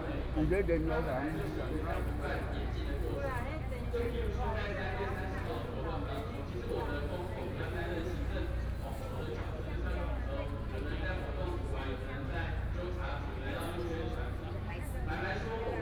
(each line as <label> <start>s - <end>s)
People and students 0.0s - 15.8s